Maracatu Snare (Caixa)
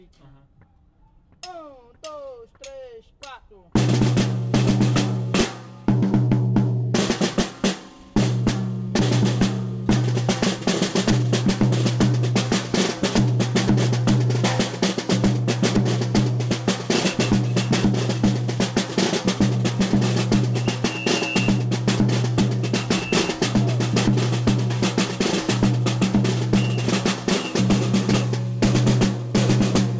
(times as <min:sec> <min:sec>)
0:00.5 0:04.2, 0:10.3 0:29.9